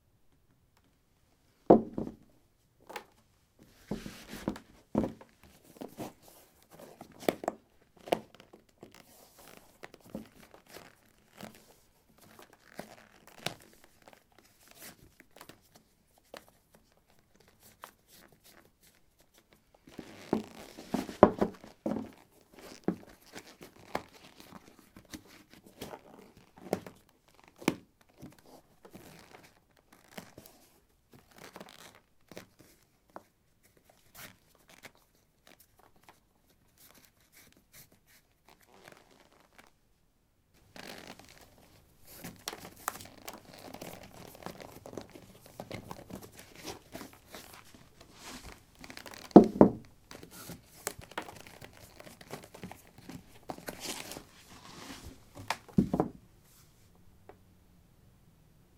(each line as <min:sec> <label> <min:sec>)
0:01.7 Putting trekking boots on/off on a wooden floor 0:02.3
0:03.9 Putting trekking boots on/off on a wooden floor 0:05.3
0:20.3 Putting trekking boots on/off on a wooden floor 0:22.1
0:48.1 Putting trekking boots on/off on a wooden floor 0:49.9
0:53.5 Putting trekking boots on/off on a wooden floor 0:56.2